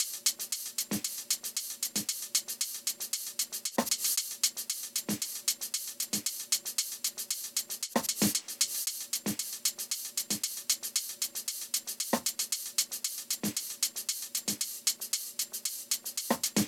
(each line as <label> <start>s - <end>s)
hihats 0.0s - 16.6s